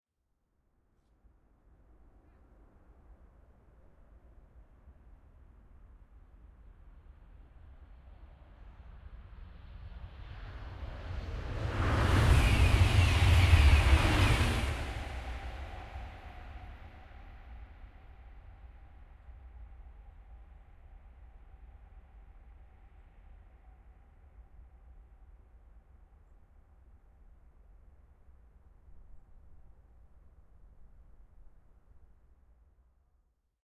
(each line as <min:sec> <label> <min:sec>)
0:09.9 high speed train passing by 0:19.0